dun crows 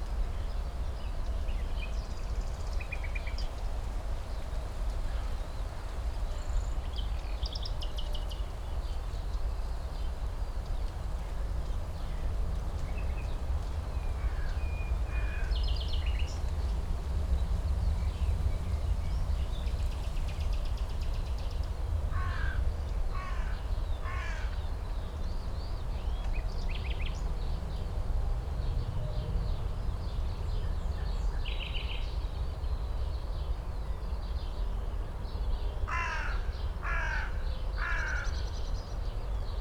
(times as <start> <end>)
23.2 24.6, 35.9 38.3